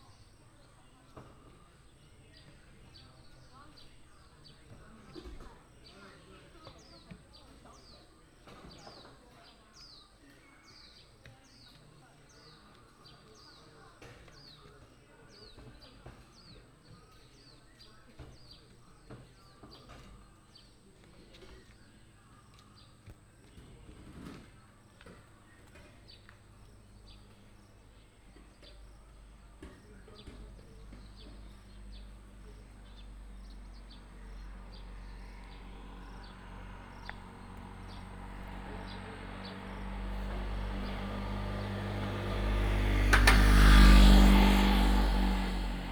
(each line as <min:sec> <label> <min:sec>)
0:20.8 traffic sound 0:45.9